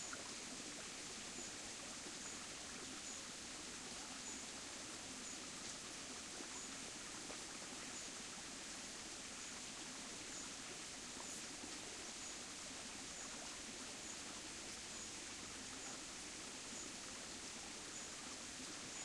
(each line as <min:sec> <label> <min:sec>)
0:00.0 small creek flows over pebbles and around rocks 0:19.0